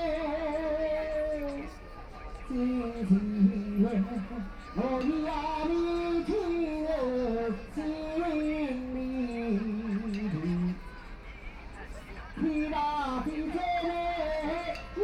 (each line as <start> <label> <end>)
0.0 Old people are singing traditional songs 15.0